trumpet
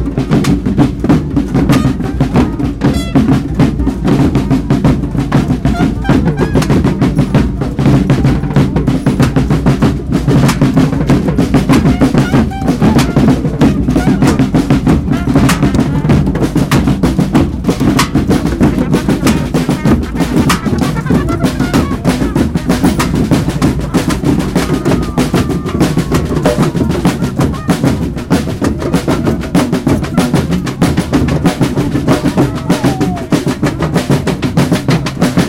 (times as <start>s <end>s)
1.6s 4.2s, 5.4s 7.2s, 11.7s 16.6s, 18.1s 28.2s